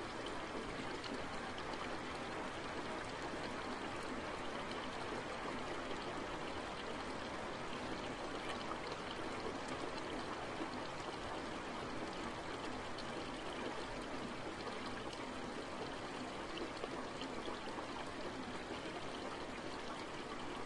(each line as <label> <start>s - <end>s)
rain 0.0s - 20.6s
stream flowing down a hill 0.0s - 20.6s